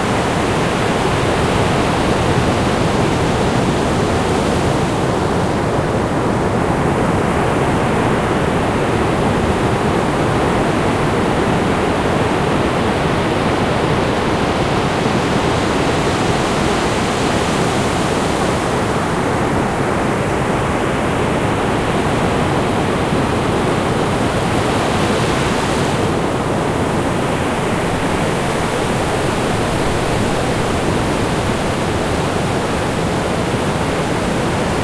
0.0s waves 34.8s
0.0s wind 34.8s

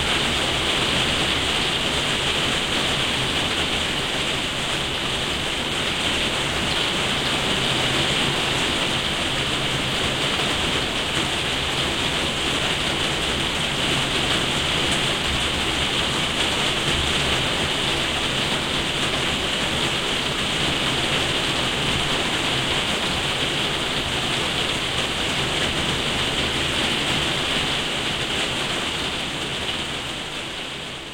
0.0s rain on conservatory3 31.1s

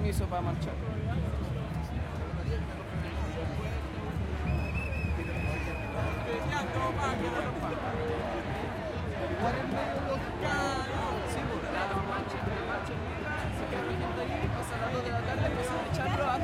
0.0s conversaciones 16.4s
0.0s crowd 16.4s
0.0s drums 16.4s

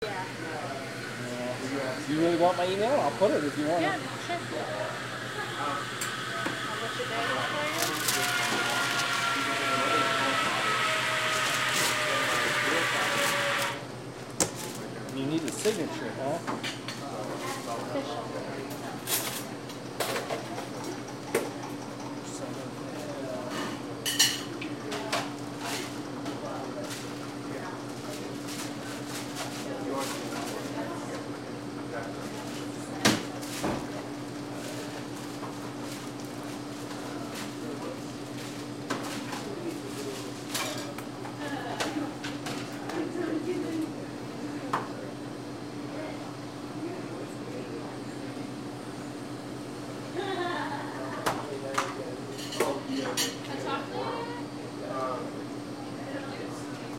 0.0s baristas taking and preparing orders 56.9s
0.0s patrons conversing to each other 13.8s

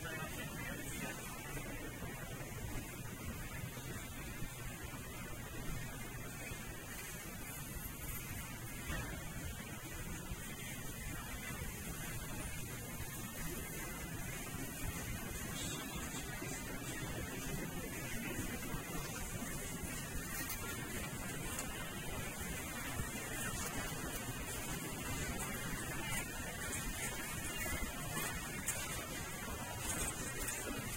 0.0s checkout 30.9s

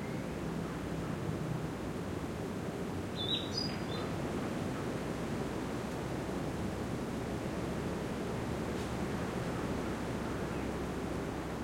0.0s wind 11.6s
3.2s birdsong 4.1s

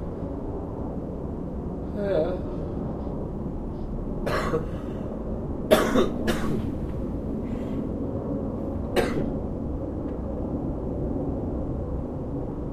0.0s airplane 12.7s
4.7s breath 5.2s
7.4s breath 7.9s

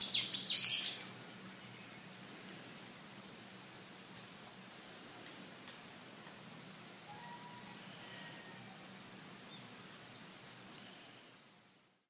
0.0s cicada 1.1s
0.0s birds 2.9s
6.8s cicada 9.6s

